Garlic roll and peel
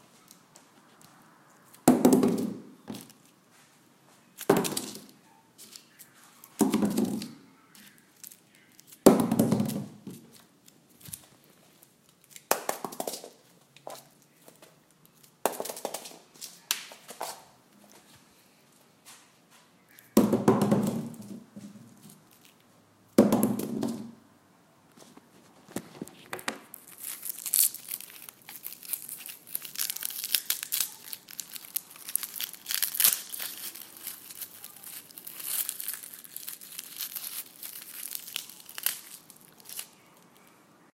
26.7s 40.5s

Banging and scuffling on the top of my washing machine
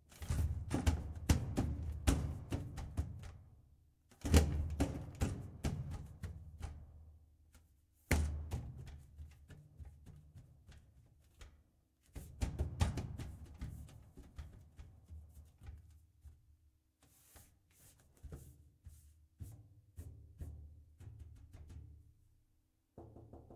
8.0s 22.1s

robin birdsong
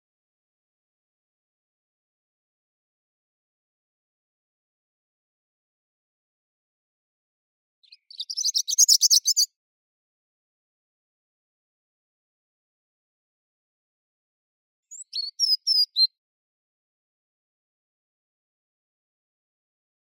7.8s 9.5s, 14.9s 16.2s

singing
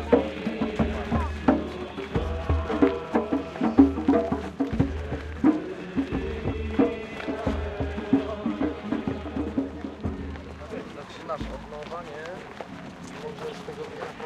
0.0s 10.3s

